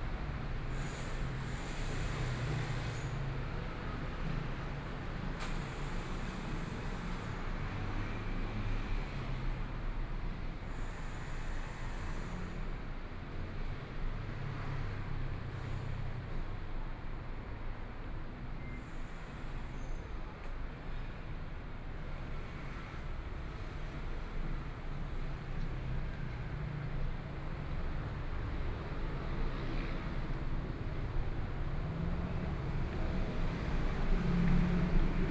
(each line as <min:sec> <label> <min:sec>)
0:00.0 Pedestrians on the road 0:35.3
0:21.6 Traffic Sound 0:35.3